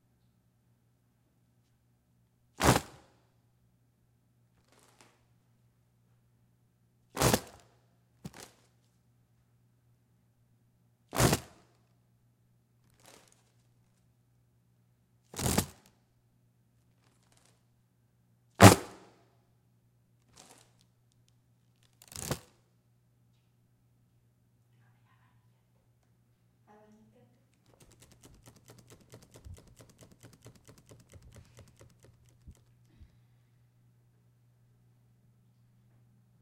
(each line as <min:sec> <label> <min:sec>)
0:26.7 fan 0:33.8